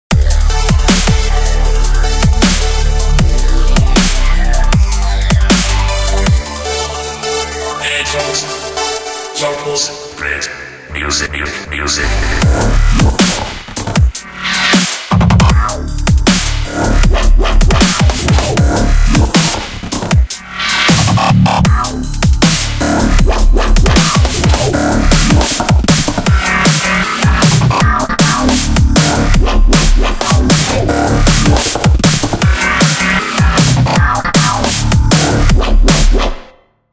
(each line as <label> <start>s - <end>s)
drums 0.0s - 7.0s
bass 0.0s - 36.5s
synths 0.1s - 14.7s
drums 12.0s - 36.4s